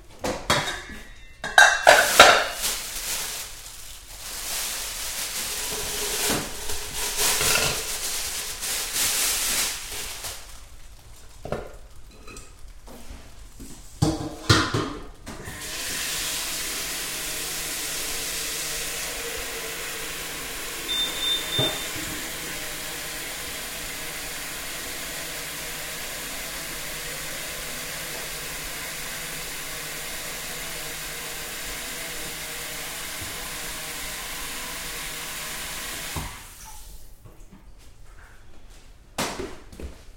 0.0s fridge 10.6s
0.0s freezer 37.6s
0.2s Cooking 37.5s
1.8s washing 10.9s
11.2s fridge 36.6s
15.5s washing 37.5s

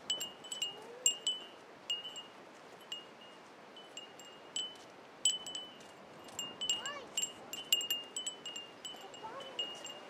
0.1s Wind Chimes 10.0s
6.7s children 7.3s

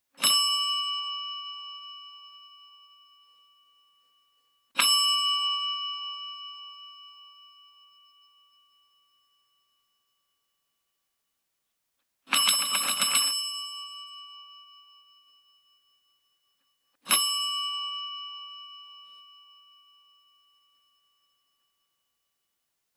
12.3s Ringing a call-bell 14.1s

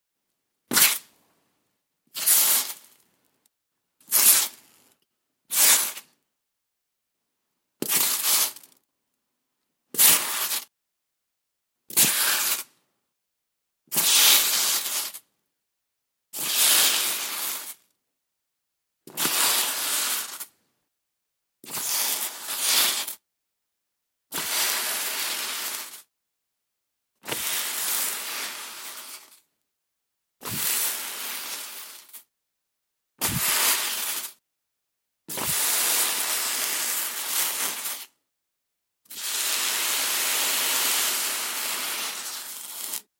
2.2s crackle 3.5s
30.6s crackle 32.3s
39.4s crackle 43.1s

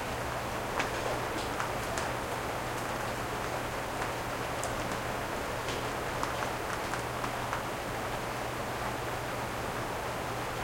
0.0s muted outside rainfall and roof 10.6s
0.8s dripping and impacting raindrops on door 7.6s

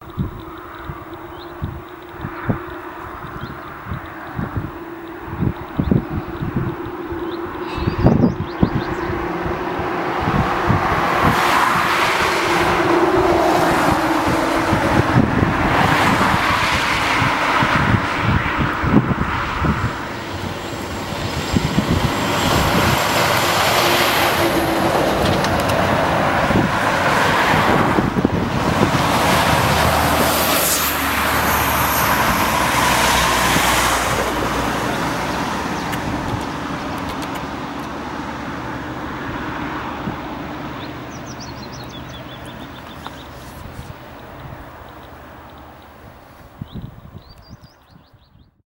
0.0s truck 46.2s
0.0s passing cars on a country lane 48.6s
0.0s bus 48.6s
0.0s mild wind 48.6s

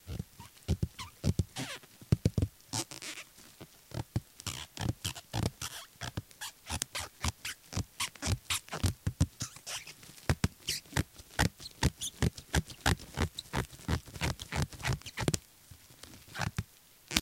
0.0s bubblewrap 17.2s

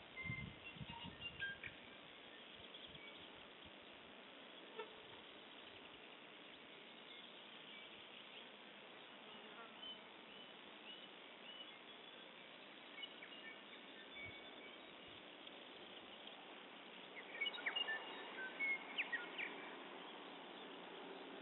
0.0s birdsong 21.4s

